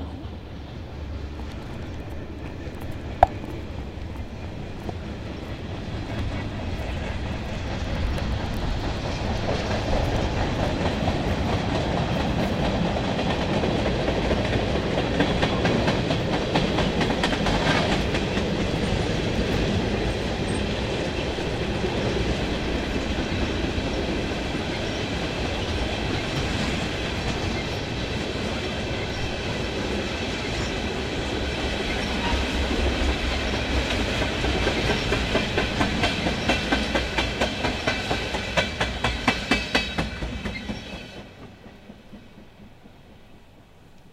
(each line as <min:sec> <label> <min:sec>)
0:00.0 Moving Train 0:44.1